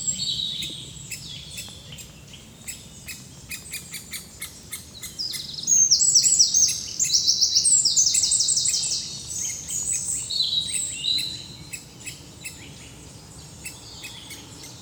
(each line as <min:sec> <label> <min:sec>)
0:00.0 Anxious Great Spotted Woodpecker 0:14.8
0:00.0 blackbird 0:14.8
0:00.0 juvenile Great Tit 0:14.8
0:00.1 juvenile Eurasian Blue Tit 0:14.8